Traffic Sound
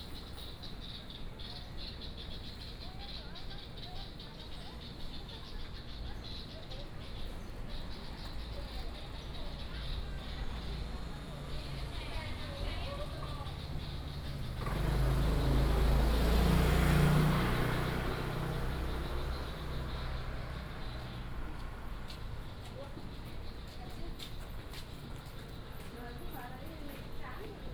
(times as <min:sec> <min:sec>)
0:07.2 0:27.7